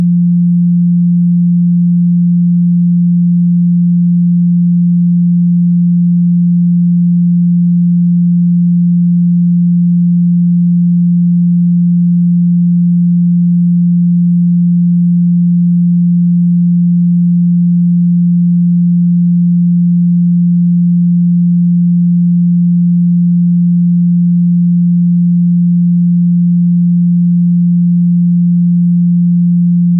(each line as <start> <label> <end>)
0.0 tone 0.3